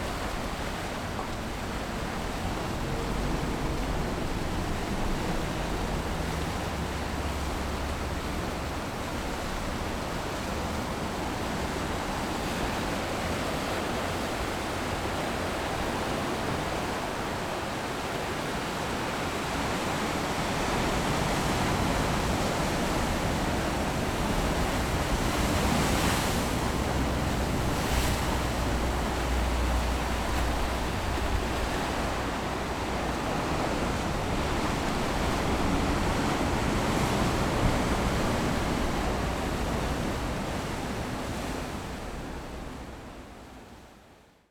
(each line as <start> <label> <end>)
0.0 waves 44.3